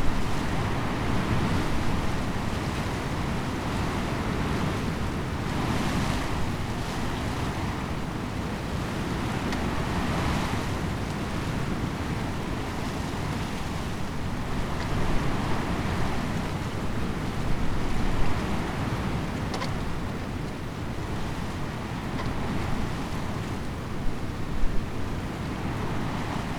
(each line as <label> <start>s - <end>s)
wind blown elder tree 0.0s - 26.5s